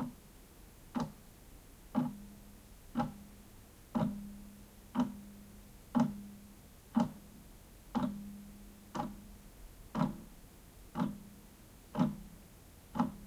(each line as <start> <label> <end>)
0.9 Clock ticks 1.2
1.9 Clock ticks 2.3
2.9 Clock ticks 3.3
3.9 Clock ticks 5.3
5.9 Clock ticks 6.3
6.9 Clock ticks 7.3
7.9 Clock ticks 8.3
8.9 Clock ticks 9.3
9.9 Clock ticks 10.3
10.9 Clock ticks 11.3
11.9 Clock ticks 12.3
12.9 Clock ticks 13.2